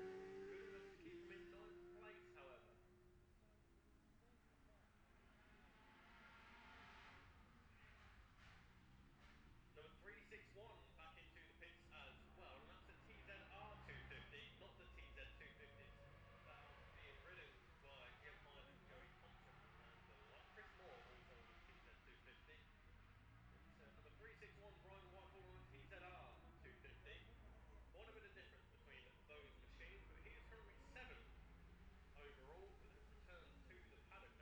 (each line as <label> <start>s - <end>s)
lightweight and 650 twins qualifying 0.0s - 34.4s